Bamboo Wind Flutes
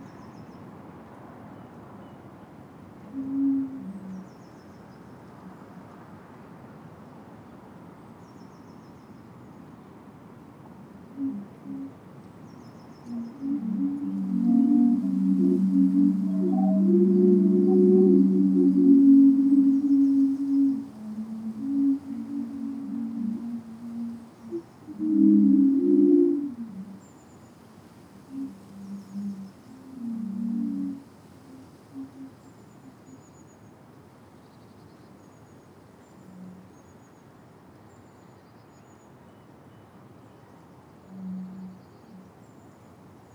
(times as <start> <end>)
3.1 4.3, 11.2 12.0, 13.1 27.3, 28.3 32.4